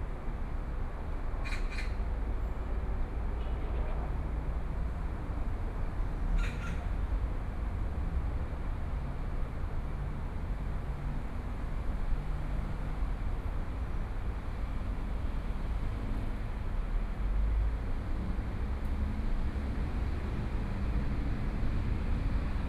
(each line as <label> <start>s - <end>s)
Traffic Sound 0.1s - 22.6s